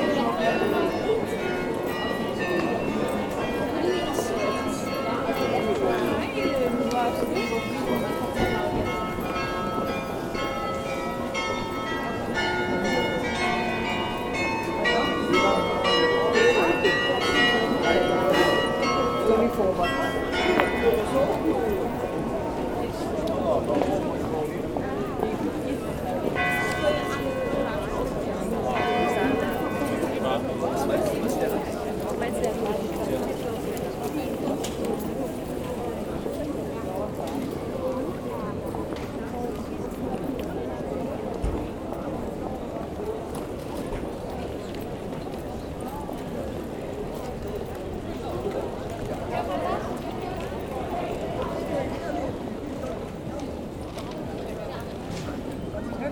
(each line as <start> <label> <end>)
0.0 Bells ringing 23.1
0.0 People walking quietly 56.1
25.3 Bells ringing 31.8